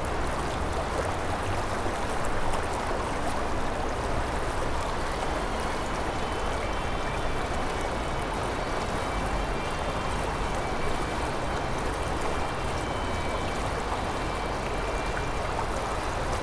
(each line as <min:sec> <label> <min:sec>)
0:00.0 river gurgling 0:16.4
0:04.0 city traffic noise 0:16.4